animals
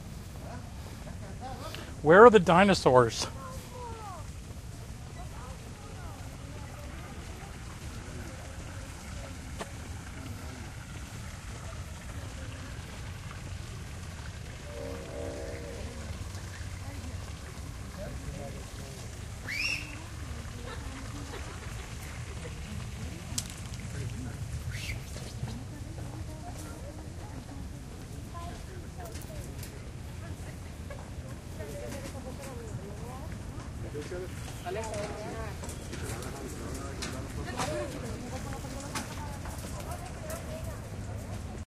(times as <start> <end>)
14.5 17.4